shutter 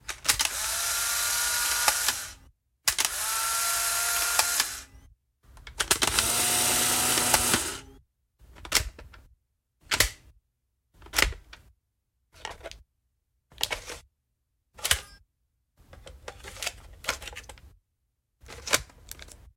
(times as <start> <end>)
0.1 4.9, 5.8 7.9